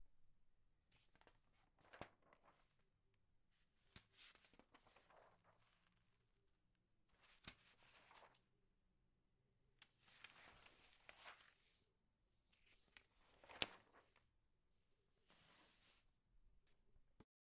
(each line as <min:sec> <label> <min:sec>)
0:01.0 turning the pages of a newspaper 0:03.0
0:03.6 turning the pages of a newspaper 0:06.3
0:07.1 turning the pages of a newspaper 0:08.5
0:09.9 turning the pages of a newspaper 0:11.9
0:12.5 turning the pages of a newspaper 0:14.2
0:15.2 turning the pages of a newspaper 0:16.0